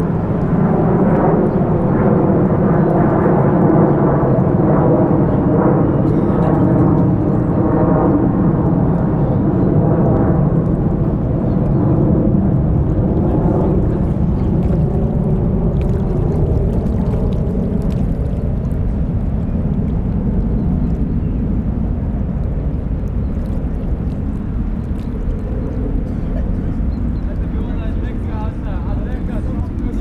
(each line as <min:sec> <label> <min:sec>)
0:07.6 vogel 0:29.9